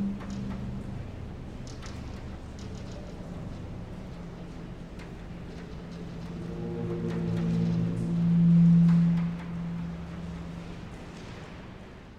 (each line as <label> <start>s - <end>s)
feedback sounds from the electrified sonic sofa installation 5.8s - 11.2s